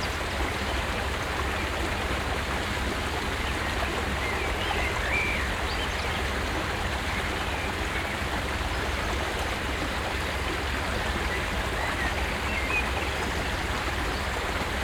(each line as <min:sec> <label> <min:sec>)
0:00.0 small stream 0:14.8
0:02.9 birds 0:14.8